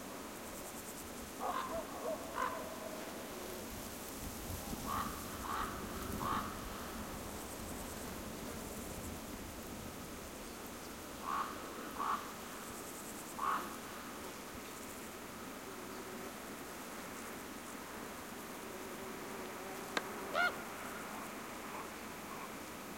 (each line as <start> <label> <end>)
1.4 raven calls 3.1
2.4 buzzing insects 22.9
4.8 raven calls 6.6
11.2 raven calls 12.3
13.4 raven calls 13.8
20.0 raven calls 22.7